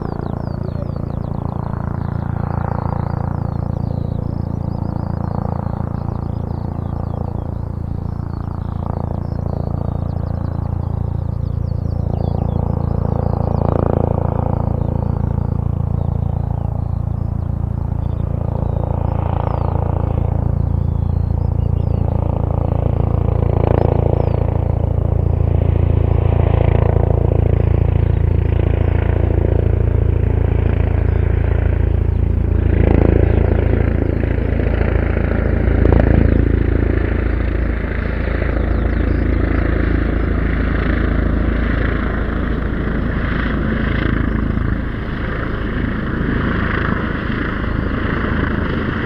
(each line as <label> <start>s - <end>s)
birds 0.0s - 49.0s
police helicopter 0.0s - 49.0s